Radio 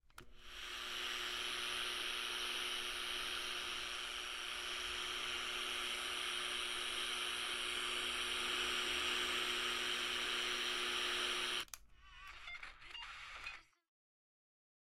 10.6s 13.8s

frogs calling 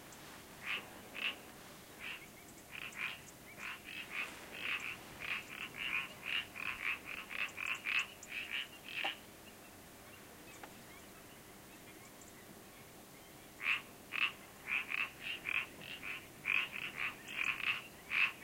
0.6s 9.4s, 13.6s 18.4s

